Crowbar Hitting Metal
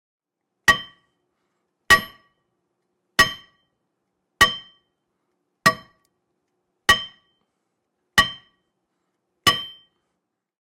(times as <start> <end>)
0.7 1.2, 1.9 2.4, 3.2 3.7, 4.4 4.9, 5.7 6.0, 6.9 7.4, 8.2 8.6, 9.5 10.0